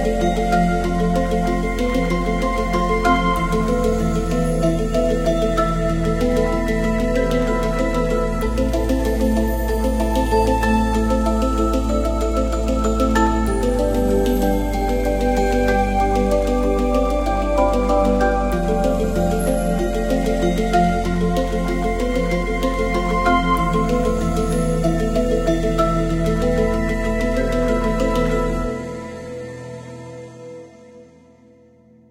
0.0s music 32.1s

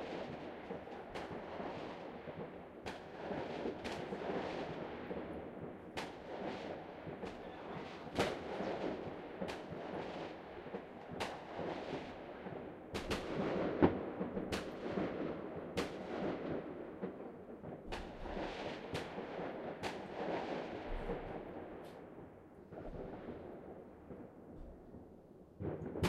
0.0s fireworks 26.0s

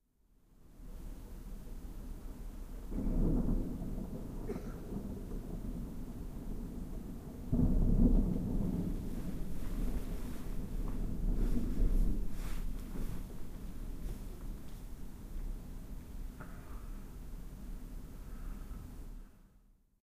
0.1s usual urban noise at night 19.9s
0.3s rain 19.6s
2.0s thunder 19.0s
16.4s breath 17.2s
18.1s breath 19.6s

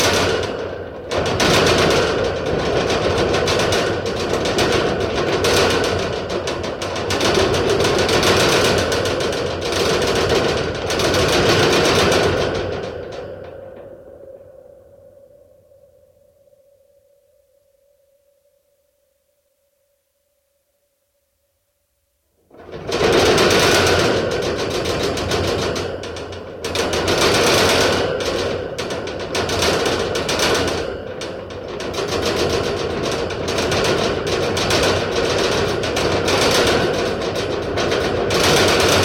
0.0s metal cage shaking 13.4s
22.6s metal cage shaking 39.0s

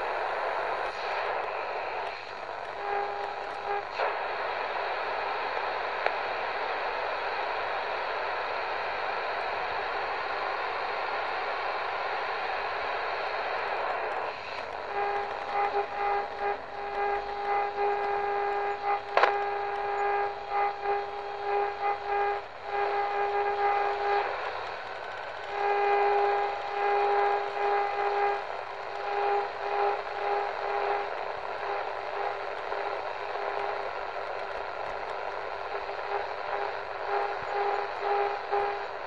0.0s Medium wave radio static 39.0s

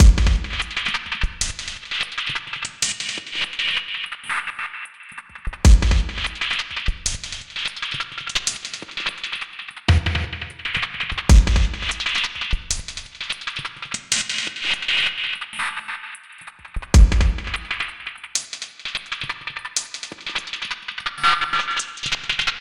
0.0s Glitch Drum loop 0.9s
5.7s Glitch Drum loop 6.5s
9.9s Glitch Drum loop 12.3s
17.0s Glitch Drum loop 17.8s

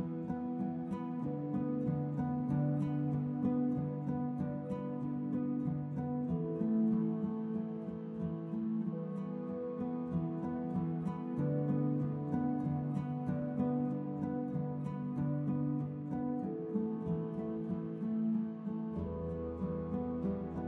0.0s Guitar 20.6s

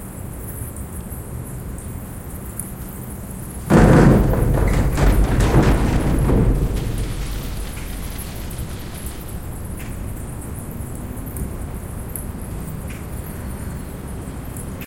4.0s bicycle passes by on the wooden bridge 12.3s

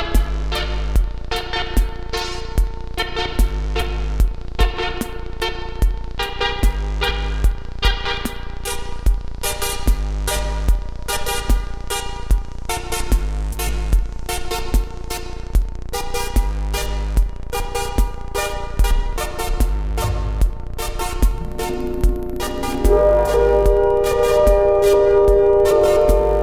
0.0s analogue synths 26.4s
17.3s drone 26.4s
18.8s beat 24.7s
19.8s arpeggio 24.4s

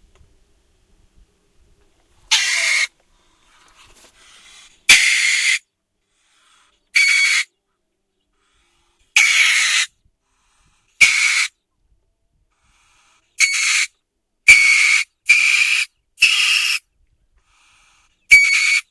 2.3s river otter or weasel 3.0s
4.2s river otter or weasel 5.6s
7.0s river otter or weasel 7.5s
8.7s river otter or weasel 9.9s
11.0s river otter or weasel 11.6s
12.8s river otter or weasel 16.8s
17.5s river otter or weasel 18.9s

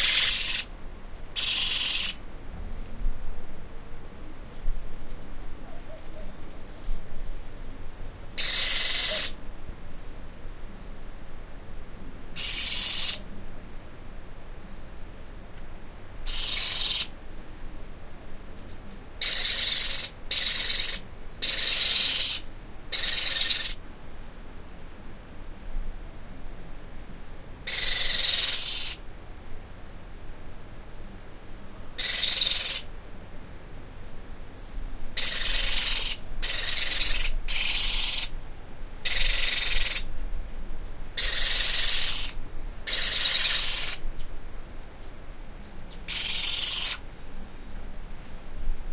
0.0s baby pionus (parrots) screaming on the roof 0.7s
1.4s baby pionus (parrots) screaming on the roof 2.2s
8.4s baby pionus (parrots) screaming on the roof 9.4s
12.4s baby pionus (parrots) screaming on the roof 13.2s
16.3s baby pionus (parrots) screaming on the roof 17.1s
19.2s baby pionus (parrots) screaming on the roof 23.8s
27.6s baby pionus (parrots) screaming on the roof 29.0s
32.0s baby pionus (parrots) screaming on the roof 32.9s
35.2s baby pionus (parrots) screaming on the roof 38.3s
39.0s baby pionus (parrots) screaming on the roof 40.1s
41.2s baby pionus (parrots) screaming on the roof 44.0s
46.1s baby pionus (parrots) screaming on the roof 47.0s

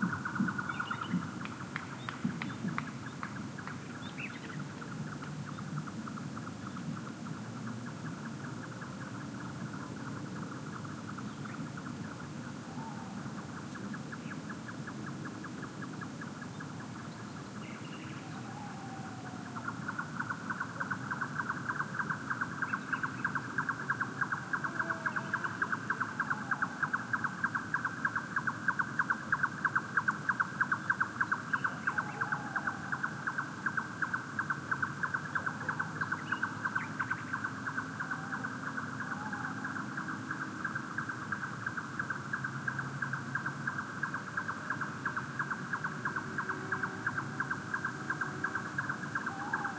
12.6s Tawny Owl 13.6s
17.7s Tawny Owl 42.2s
43.0s Tawny Owl 49.7s

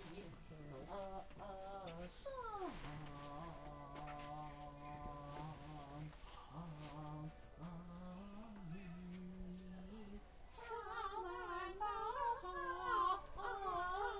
0.0s singing 14.1s

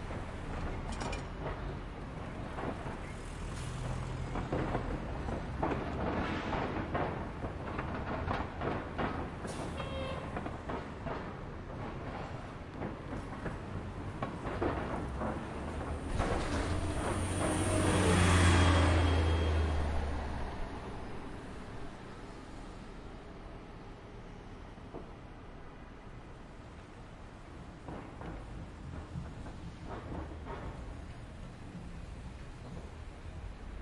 0.0s Buses 33.8s
0.0s Light traffic 33.8s
16.2s Distant siren 21.6s

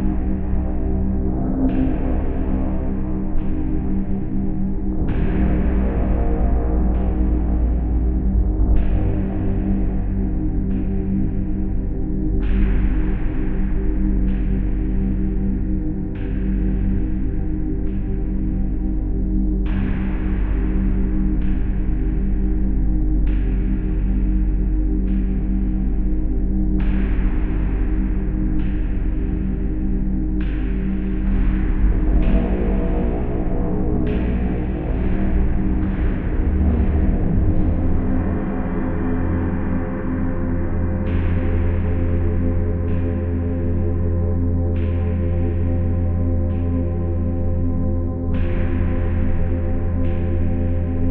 0.0s dark and creepy wee drone 51.1s

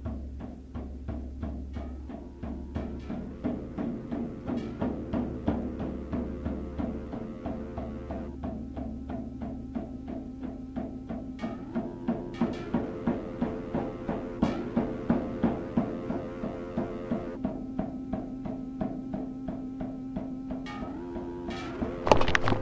0.0s music 22.6s

